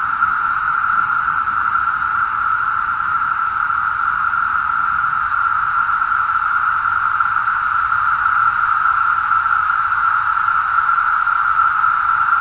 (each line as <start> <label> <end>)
0.0 Brood X cicadas 12.4